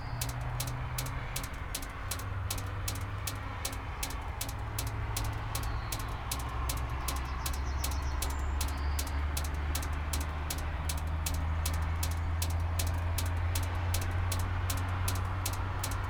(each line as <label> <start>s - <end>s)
distant cars 0.0s - 16.0s
drops in a drain 0.0s - 16.0s